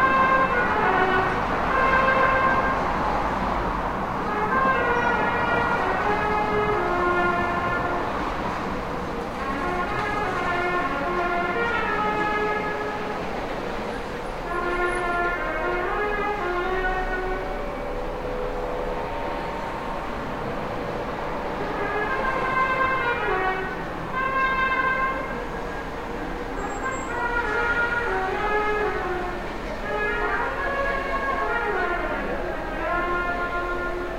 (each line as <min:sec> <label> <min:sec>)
0:00.0 traffic 0:34.1
0:04.2 trumpete being played by a musician 0:08.2
0:09.3 trumpete being played by a musician 0:13.2
0:21.6 trumpete being played by a musician 0:25.4
0:26.6 trumpete being played by a musician 0:34.1